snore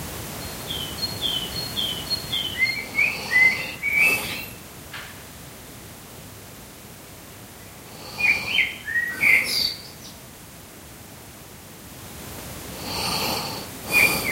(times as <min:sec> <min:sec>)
0:12.8 0:14.3